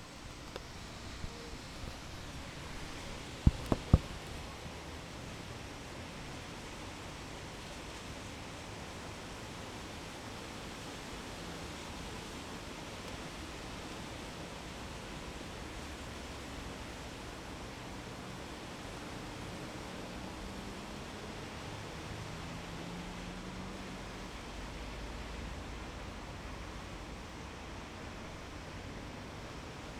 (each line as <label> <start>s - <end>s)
rain 0.0s - 29.9s
traffic hum on a wet and rainy crossing B 0.0s - 29.9s